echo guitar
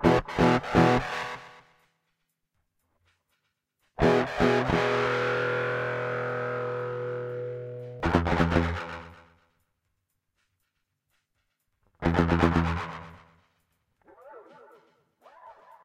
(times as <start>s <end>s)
0.0s 1.6s, 4.0s 9.3s, 12.0s 13.2s